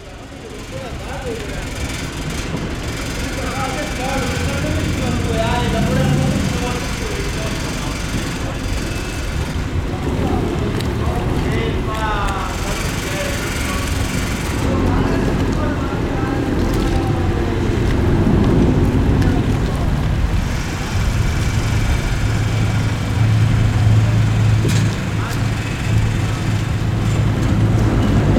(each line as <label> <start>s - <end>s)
People 0.0s - 28.3s